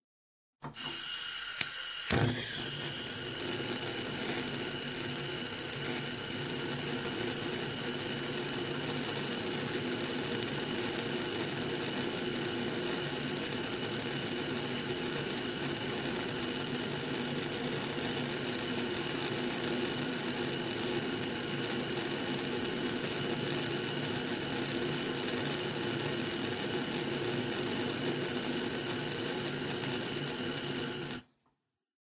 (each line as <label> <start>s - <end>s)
Flame ignition on a gas hob 0.7s - 31.3s